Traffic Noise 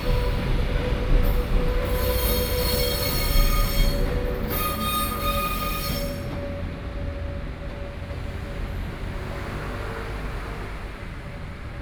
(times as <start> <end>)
6.7 11.8